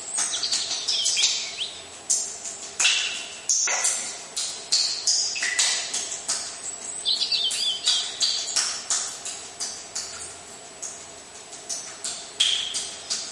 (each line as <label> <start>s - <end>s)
water trickling into our spring fed, underground water deposit 0.0s - 13.3s
Robin's song 0.1s - 1.9s
Robin's song 6.9s - 8.7s